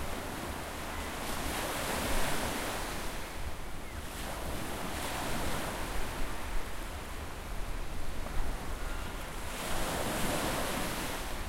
Windy Beach Waves 0:00.0 - 0:11.4
windy 0:00.0 - 0:11.4

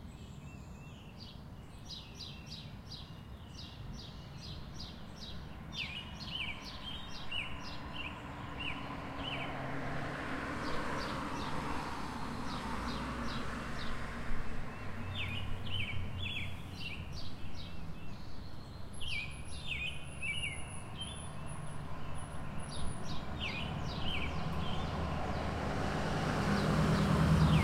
birds singing 0:00.0 - 0:09.6
traffic 0:00.0 - 0:27.6
birds singing 0:10.6 - 0:11.7
birds singing 0:12.3 - 0:27.6

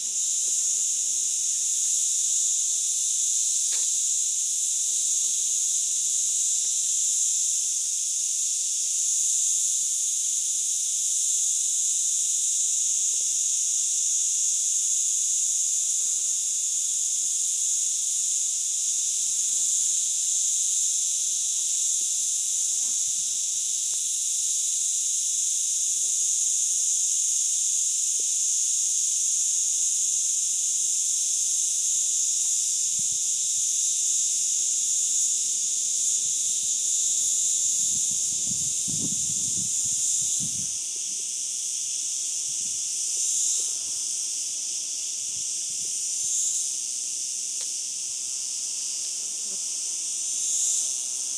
Singing Cicadas 0:00.0 - 0:51.3
other insects buzzings 0:00.0 - 0:51.3
wind 0:00.0 - 0:51.3

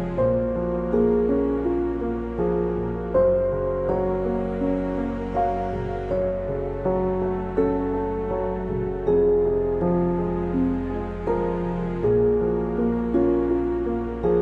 Piano 0:00.0 - 0:14.4
String 0:00.0 - 0:14.4

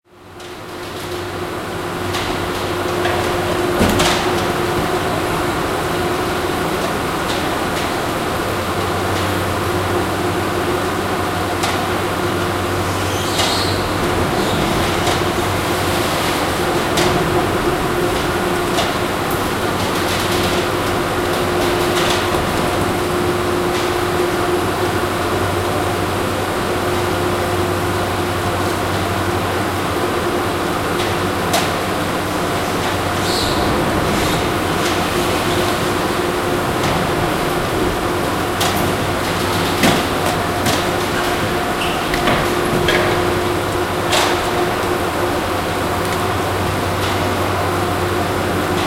doors opening/closing 0:02.1 - 0:07.8
doors opening/closing 0:32.8 - 0:47.3

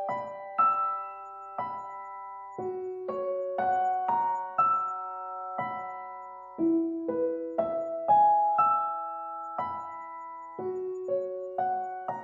Piano 0:00.0 - 0:12.2

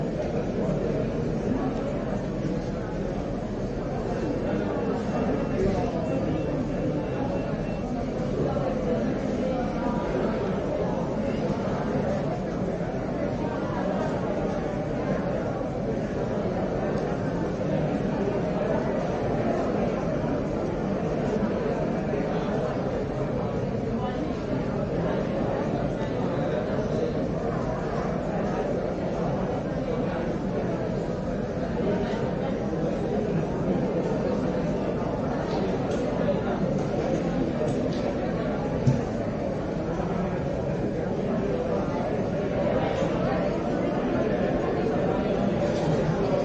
speech 0:00.0 - 0:46.4

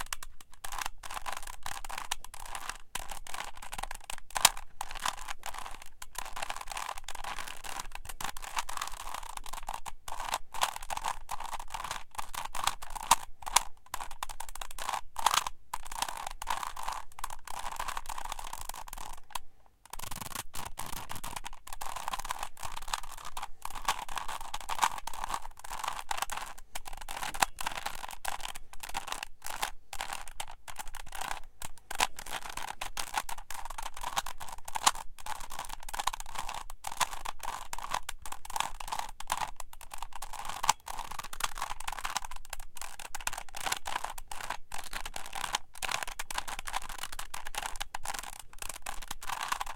Rubik's Cube 3x3 0:00.0 - 0:49.7

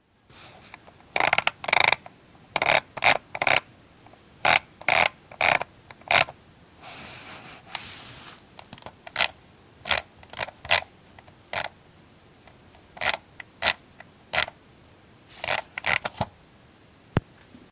Mouse wheel scrolling 0:00.5 - 0:03.7
Mouse wheel scrolling 0:04.4 - 0:06.4
Mouse wheel scrolling 0:07.7 - 0:11.7
Mouse wheel scrolling 0:12.5 - 0:14.6
Mouse wheel scrolling 0:15.3 - 0:16.3

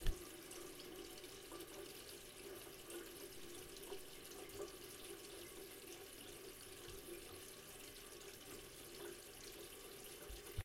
Running Tap 0:00.0 - 0:10.6

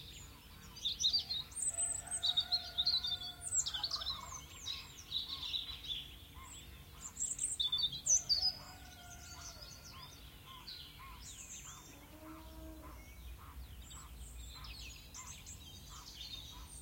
birds 0:00.0 - 0:16.8

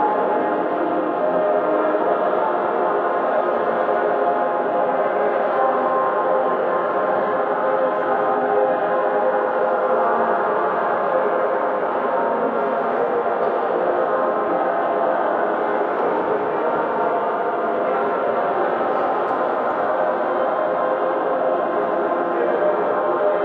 prayes 0:00.0 - 0:23.4

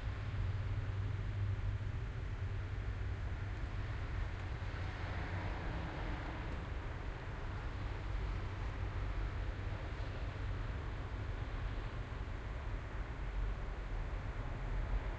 traffic 0:00.0 - 0:15.1

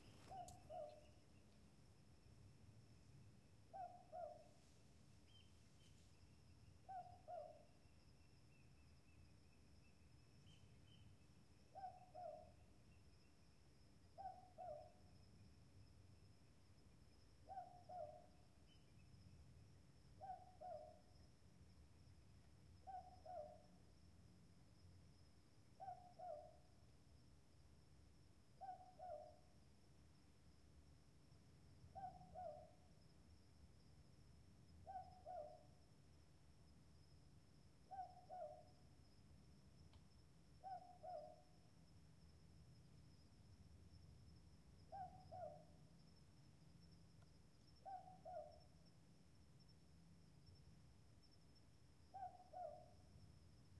Southern Boobook owl 0:00.0 - 0:01.5
Southern Boobook owl 0:03.6 - 0:09.2
Southern Boobook owl 0:09.9 - 0:13.1
Southern Boobook owl 0:14.1 - 0:15.2
Southern Boobook owl 0:17.4 - 0:19.1
Southern Boobook owl 0:20.1 - 0:21.2
Southern Boobook owl 0:22.8 - 0:23.9
Southern Boobook owl 0:25.7 - 0:26.8
Southern Boobook owl 0:28.5 - 0:29.6
Southern Boobook owl 0:31.8 - 0:33.0
Southern Boobook owl 0:34.8 - 0:36.0
Southern Boobook owl 0:37.8 - 0:39.0
Southern Boobook owl 0:40.6 - 0:41.8
Southern Boobook owl 0:44.8 - 0:46.0
Southern Boobook owl 0:47.8 - 0:48.8
Southern Boobook owl 0:52.0 - 0:53.4

